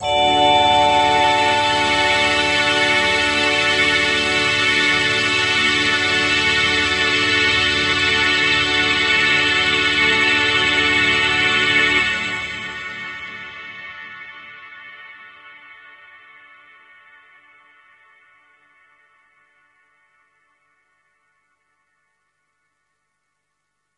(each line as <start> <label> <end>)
0.0 Orchestra 12.8